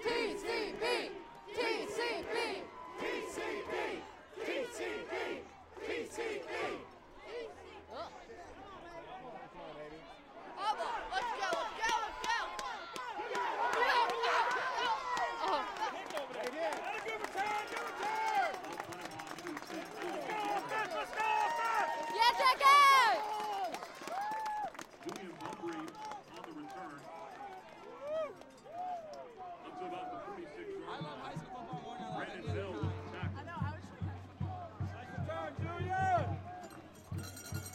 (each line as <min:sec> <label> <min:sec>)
0:00.0 crowd cheers for the defense 0:37.7